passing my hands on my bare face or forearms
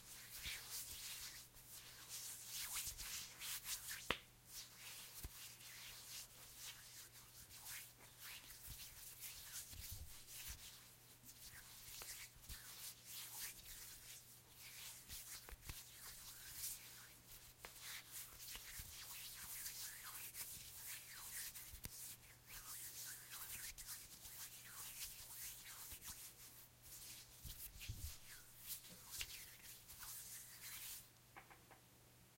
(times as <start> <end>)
23.4 31.5